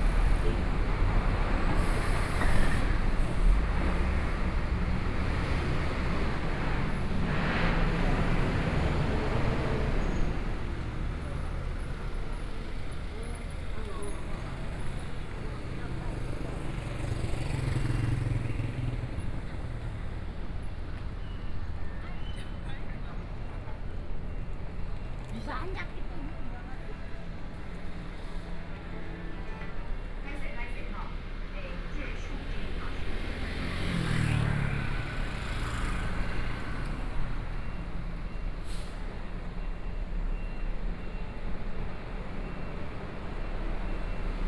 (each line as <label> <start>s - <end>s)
Traffic Noise 0.0s - 44.4s